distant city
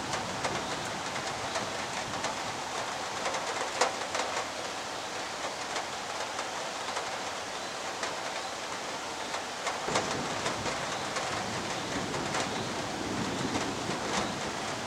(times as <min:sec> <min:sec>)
0:09.8 0:14.8